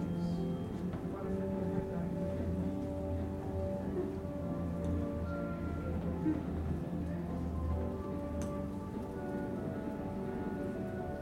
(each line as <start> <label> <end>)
0.0 shuttle subway train 6.9